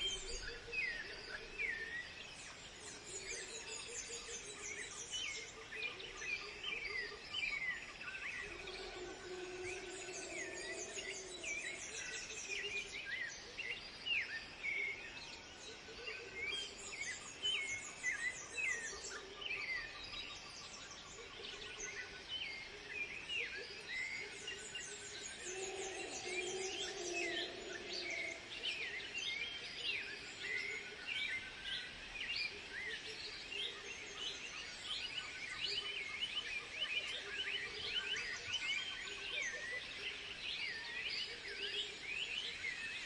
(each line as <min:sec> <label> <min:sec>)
0:00.0 Birds 0:43.0
0:00.0 insects 0:43.0
0:08.4 Howler Monkeys 0:12.8
0:24.3 Howler Monkeys 0:29.2